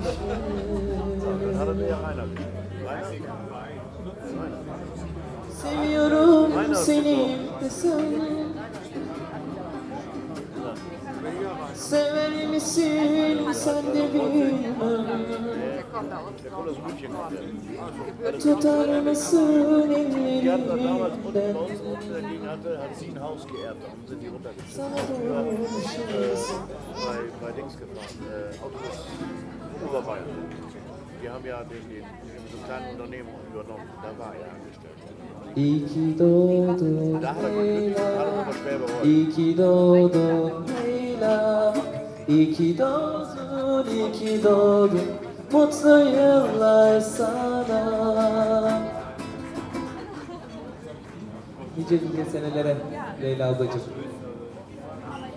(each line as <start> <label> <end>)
5.5 Happy Birthday and other Turkish music 17.0
24.4 Happy Birthday and other Turkish music 31.2
36.8 Happy Birthday and other Turkish music 50.4